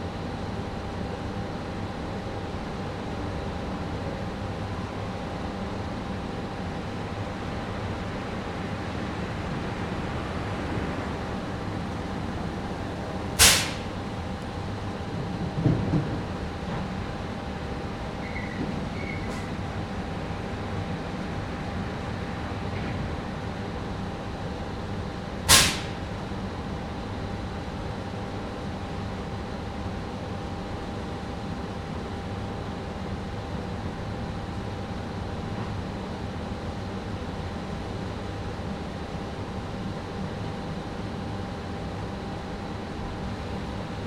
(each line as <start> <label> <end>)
12.5 steam releasing factory 14.2
25.4 steam releasing factory 26.2